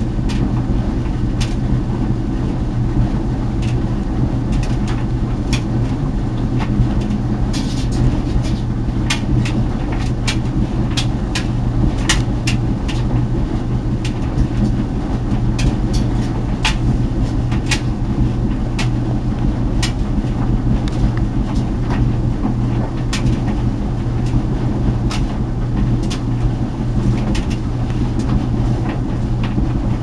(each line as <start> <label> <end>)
0.0 clothes dryer 30.0